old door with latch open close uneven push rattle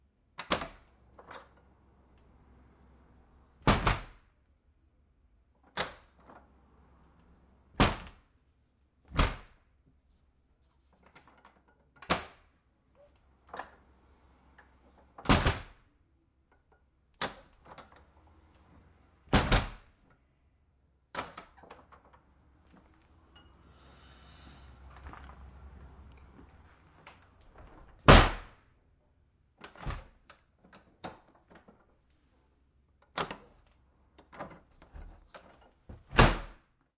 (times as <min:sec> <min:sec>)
0:29.6 0:31.6